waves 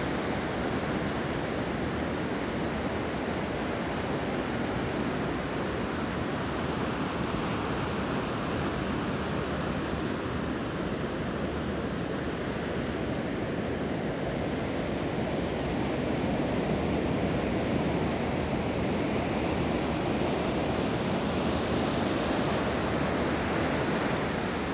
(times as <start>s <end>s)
19.5s 24.7s